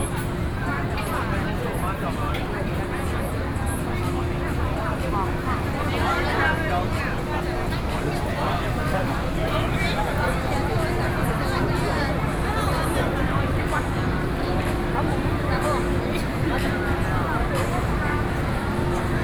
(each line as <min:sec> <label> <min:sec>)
0:00.0 The crowd 0:19.2